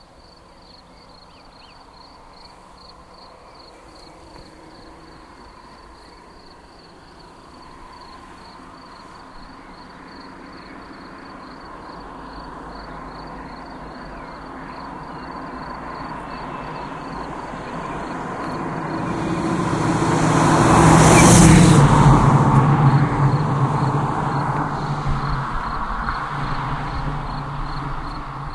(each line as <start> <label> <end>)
16.1 Sportscar Mustang 28.5